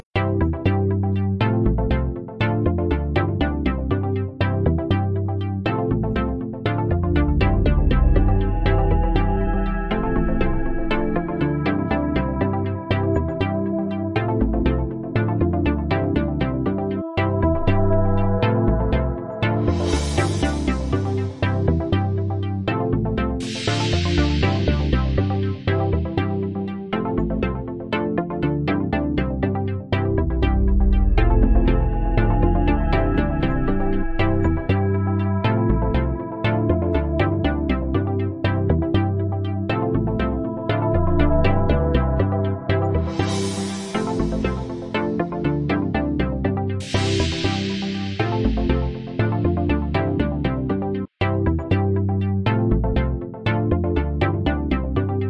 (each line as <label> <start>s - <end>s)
musical sequence 6.0s - 15.1s
musical sequence 16.2s - 22.3s
musical sequence 23.4s - 26.5s
musical sequence 29.2s - 49.9s